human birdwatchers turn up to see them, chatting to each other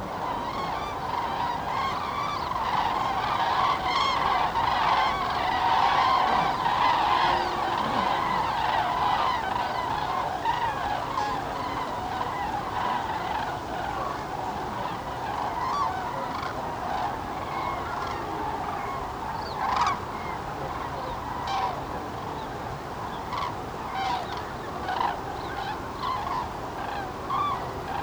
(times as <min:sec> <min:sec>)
0:00.2 0:17.3